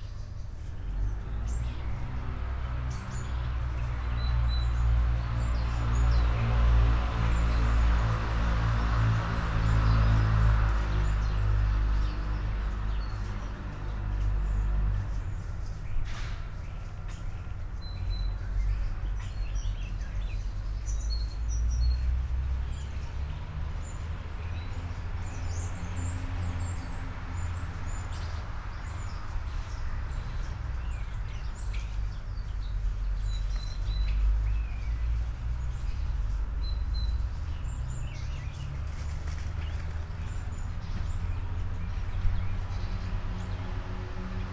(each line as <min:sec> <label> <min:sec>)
0:00.0 birds 0:44.5
0:00.0 trees 0:44.5